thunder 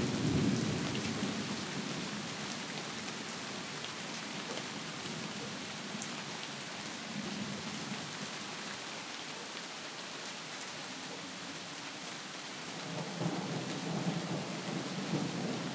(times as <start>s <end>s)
13.0s 15.7s